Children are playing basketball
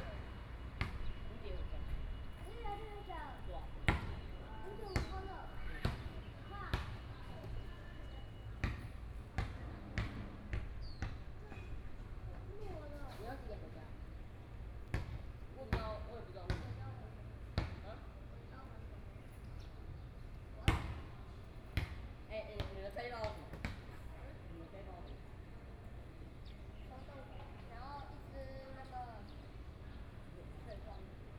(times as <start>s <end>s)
3.9s 13.0s